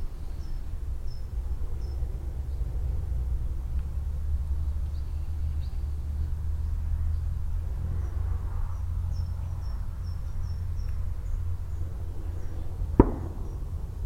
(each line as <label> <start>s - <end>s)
several group of shots in the distance 13.0s - 14.0s